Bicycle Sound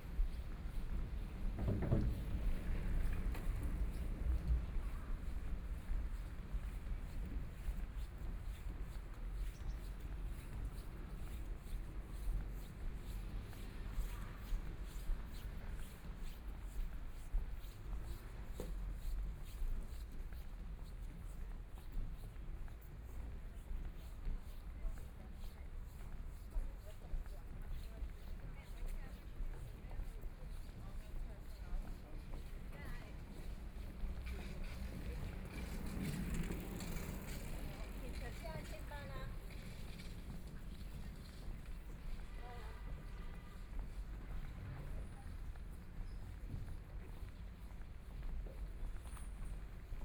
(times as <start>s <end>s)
34.2s 38.7s